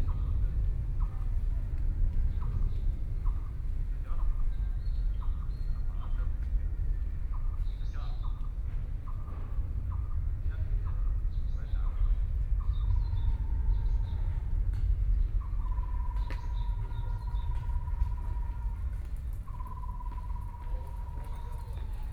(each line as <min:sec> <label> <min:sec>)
0:07.2 Birdsong 0:22.1